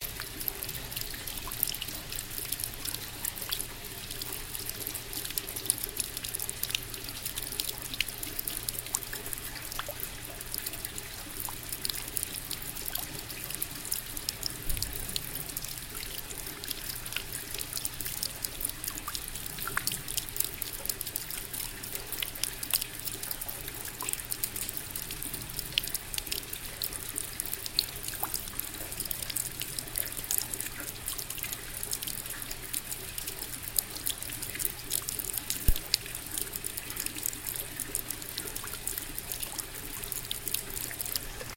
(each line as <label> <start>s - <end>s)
dripping 0.0s - 41.5s
rain 0.0s - 41.5s
small water fall 0.0s - 41.5s